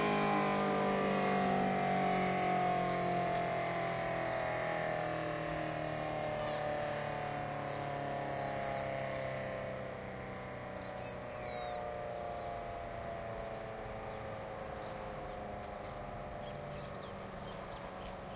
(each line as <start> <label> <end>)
0.0 3-phase dual tone siren 18.3